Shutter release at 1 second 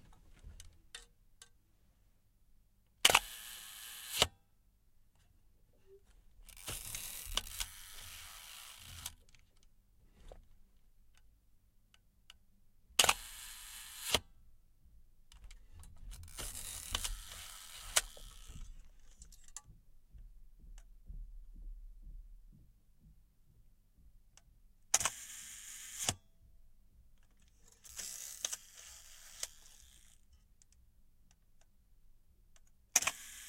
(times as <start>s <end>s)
3.0s 4.3s, 13.0s 14.2s, 16.4s 18.5s, 33.0s 33.4s